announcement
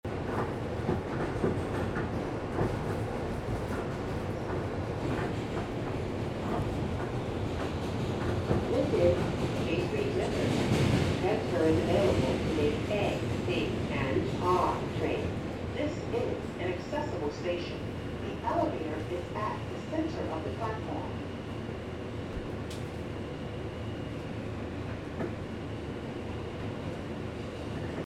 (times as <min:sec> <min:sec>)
0:11.2 0:21.2